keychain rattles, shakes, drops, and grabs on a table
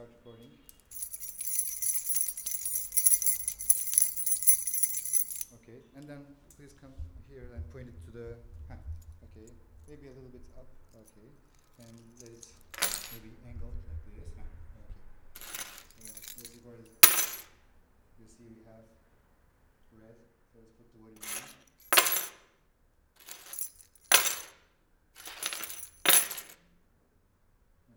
0:00.7 0:05.6, 0:07.0 0:13.9, 0:15.2 0:17.6, 0:21.2 0:22.5, 0:23.2 0:26.6

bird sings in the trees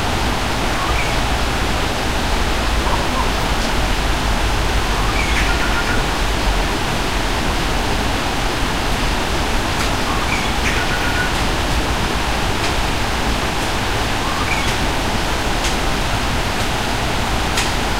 0:00.8 0:01.2, 0:04.9 0:06.0, 0:10.1 0:11.4, 0:14.3 0:14.8

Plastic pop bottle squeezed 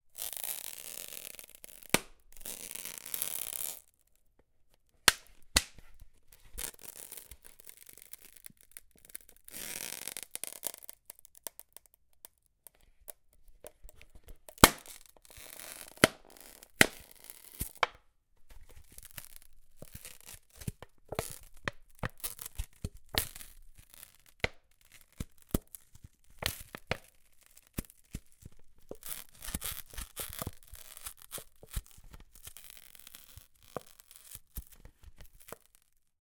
0:14.3 0:15.3, 0:15.9 0:18.0

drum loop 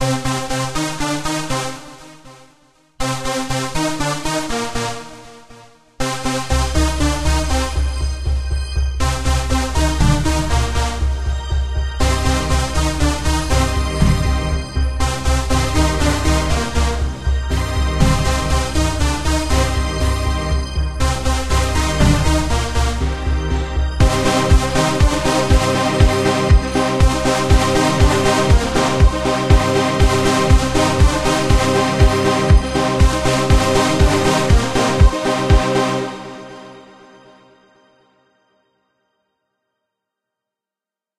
0:12.4 0:14.7, 0:21.2 0:36.1

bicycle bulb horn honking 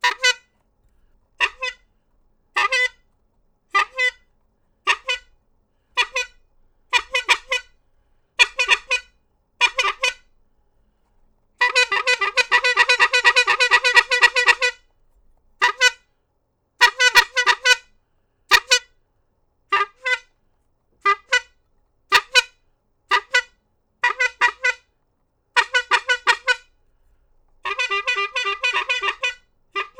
0:02.6 0:03.0, 0:11.6 0:14.8, 0:23.2 0:24.8, 0:27.7 0:29.9

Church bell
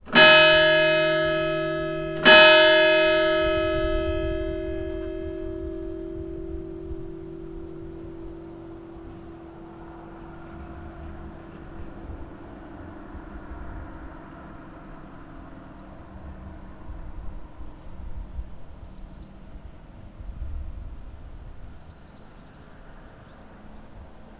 0:00.0 0:16.4

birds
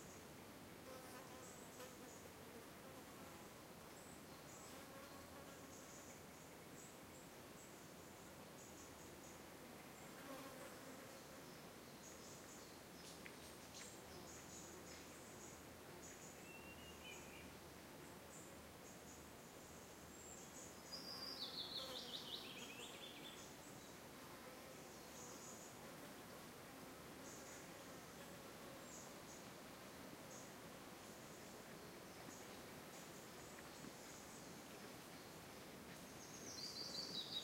0:18.3 0:24.0

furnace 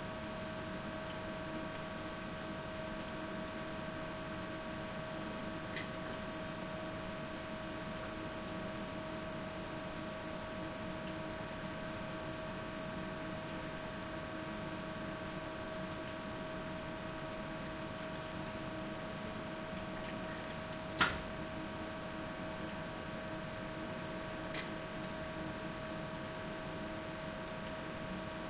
0:14.9 0:26.6

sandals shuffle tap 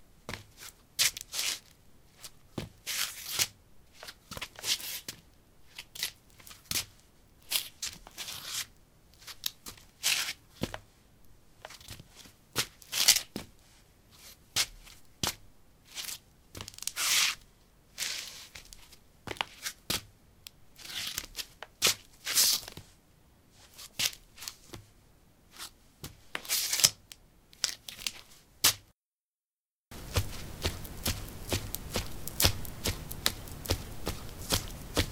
0:00.3 0:01.2, 0:02.5 0:02.8, 0:29.9 0:35.1

